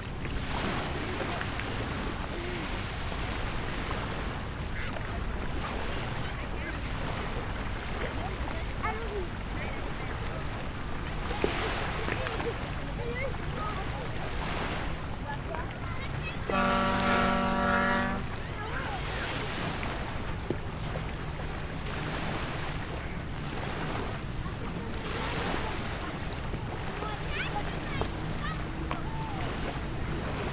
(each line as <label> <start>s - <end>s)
Beach Sound 0.0s - 30.5s